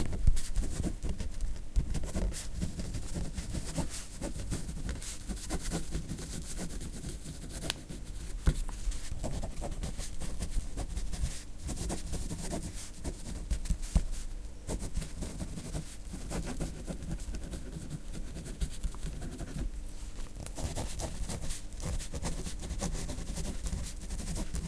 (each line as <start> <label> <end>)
20.5 plastic ballpoint pen writes in blue on a blanco A4 paper 24.6